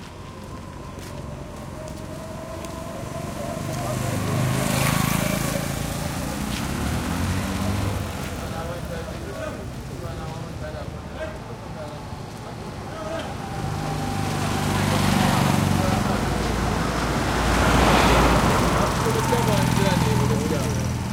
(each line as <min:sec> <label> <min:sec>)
0:00.0 crunchy steps 0:03.9
0:00.0 light traffic 0:21.1
0:00.0 throaty motorcycles and cars 0:21.1